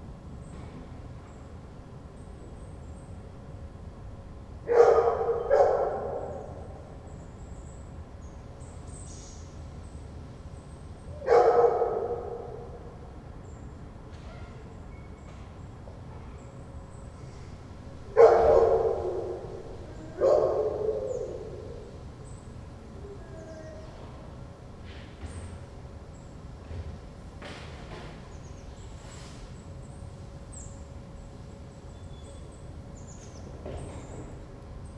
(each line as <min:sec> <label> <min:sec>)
0:04.7 howling dog 0:07.0
0:11.1 howling dog 0:13.0
0:18.1 howling dog 0:24.4